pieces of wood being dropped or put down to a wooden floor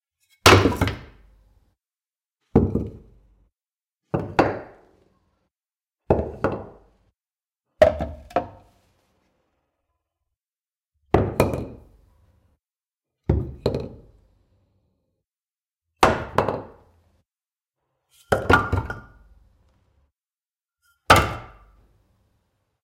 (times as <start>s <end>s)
0.3s 1.1s